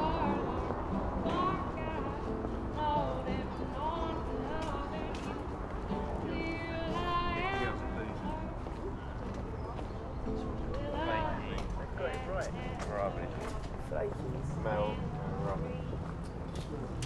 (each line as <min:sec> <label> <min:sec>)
0:00.0 singer 0:09.1
0:00.0 visitors of the new weekend market 0:17.0
0:10.3 singer 0:13.7